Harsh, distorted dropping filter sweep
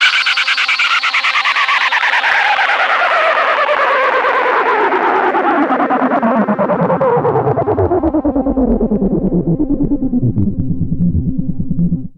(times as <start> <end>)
7.0 12.1